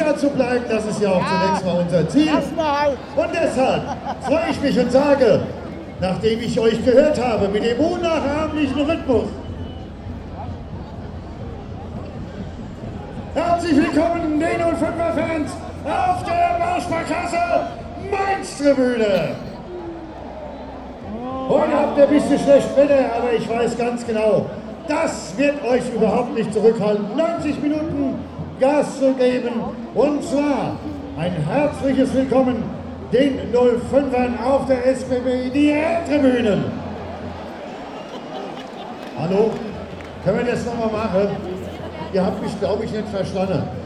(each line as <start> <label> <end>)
0.0 stadium commentator introducing the teams 19.8
0.0 footbal fans 43.8
21.0 stadium commentator introducing the teams 43.8